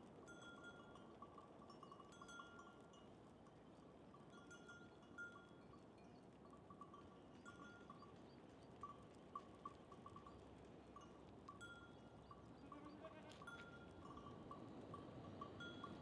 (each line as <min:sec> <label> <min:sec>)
0:00.0 herd of goats is herded along the path 0:16.0